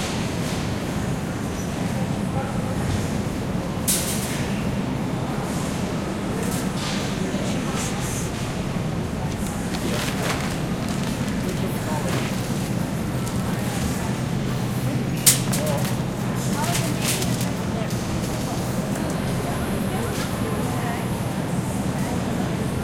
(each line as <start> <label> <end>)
0.0 refrigerators 22.8
0.9 customer ambience 22.8